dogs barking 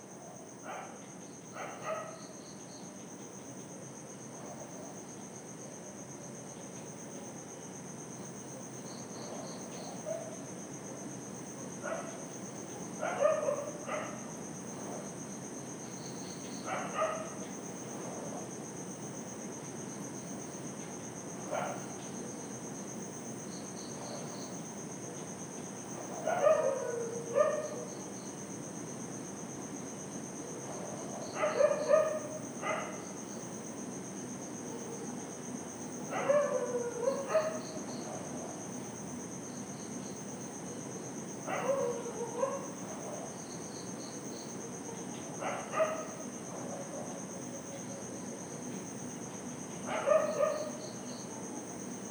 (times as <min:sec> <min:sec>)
0:13.0 0:14.2, 0:16.7 0:17.4, 0:26.0 0:27.9, 0:30.9 0:33.0, 0:36.1 0:38.4, 0:41.4 0:43.3, 0:45.4 0:47.2, 0:49.8 0:50.8